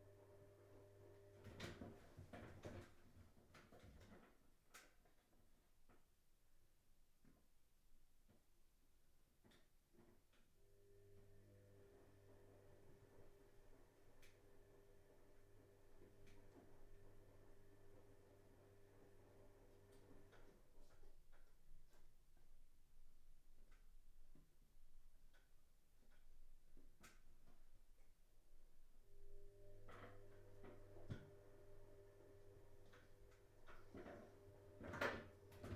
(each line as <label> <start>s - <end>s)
washing machine is churning away 29.5s - 35.7s